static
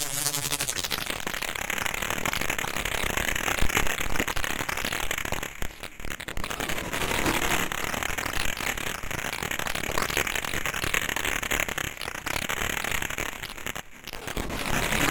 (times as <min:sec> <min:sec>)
0:00.0 0:01.5